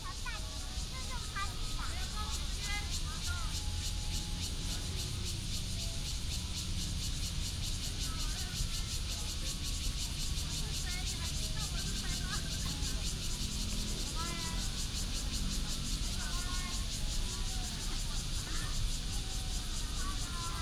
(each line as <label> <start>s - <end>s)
Cicadas 0.0s - 20.6s
traffic sound 0.0s - 20.6s